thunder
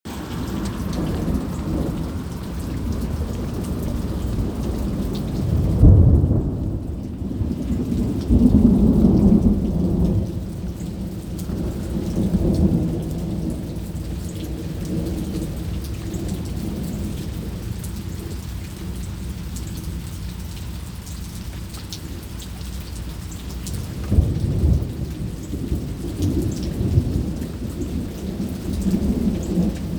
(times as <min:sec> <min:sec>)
0:00.1 0:13.7, 0:23.9 0:29.9